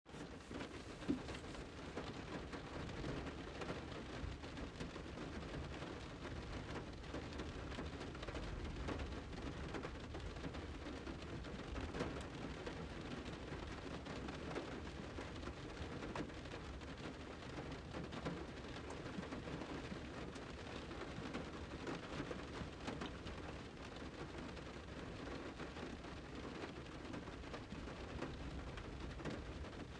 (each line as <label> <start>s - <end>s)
rain hitting from the inside 0.1s - 29.9s